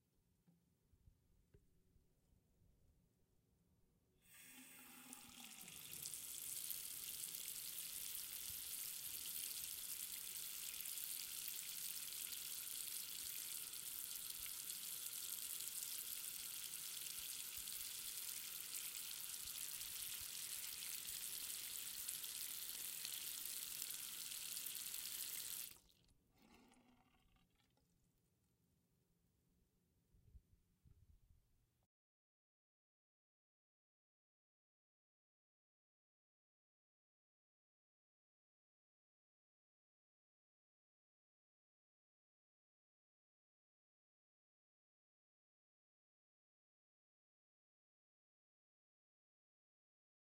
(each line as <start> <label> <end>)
4.3 sink water 28.1